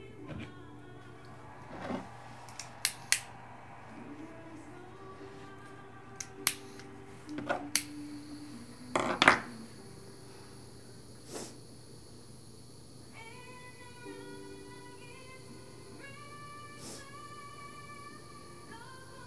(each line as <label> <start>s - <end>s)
national anthem 0.0s - 12.3s
smoking hash oil 0.0s - 19.2s